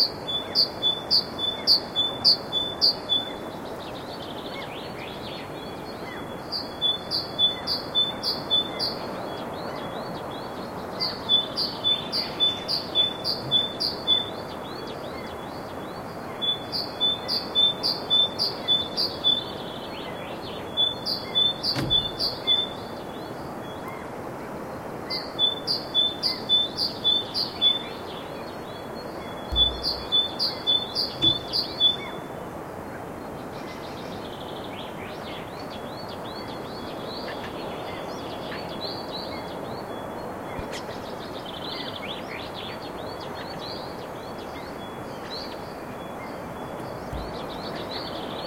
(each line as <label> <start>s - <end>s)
brids chirping in the forrest 0.0s - 48.4s